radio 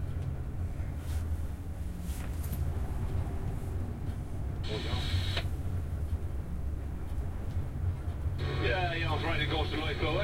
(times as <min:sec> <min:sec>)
0:04.6 0:05.5, 0:08.4 0:10.2